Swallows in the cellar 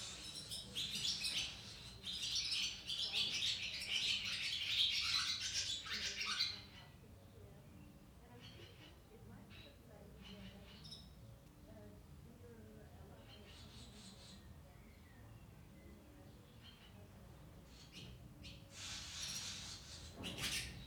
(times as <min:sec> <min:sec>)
0:00.0 0:07.0, 0:12.4 0:20.8